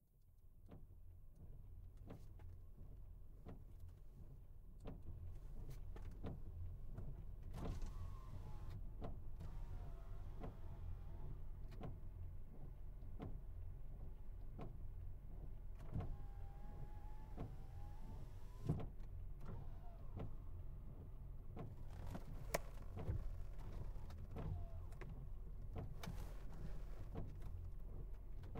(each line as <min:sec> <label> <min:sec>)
0:07.5 CAR wipers 0:12.0
0:15.7 CAR wipers 0:28.5